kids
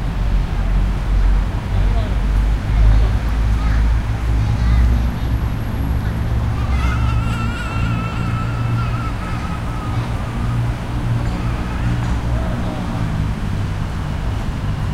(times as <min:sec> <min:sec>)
0:01.9 0:13.4